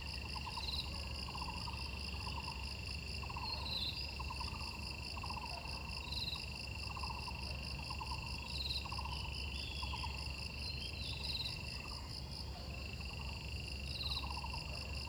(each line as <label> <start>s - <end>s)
insects 0.0s - 15.0s